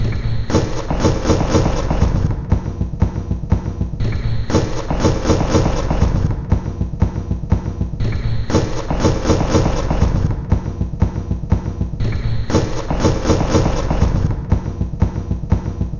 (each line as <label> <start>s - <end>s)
Drum Loop 0.0s - 15.9s